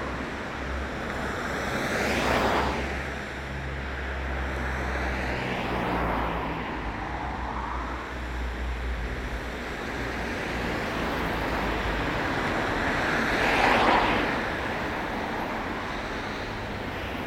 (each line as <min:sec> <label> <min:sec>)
0:00.0 road 0:17.2